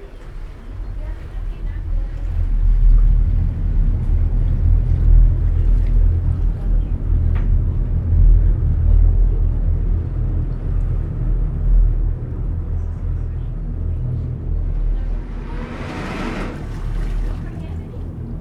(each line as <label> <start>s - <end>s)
public transport ferry boat 0.0s - 18.4s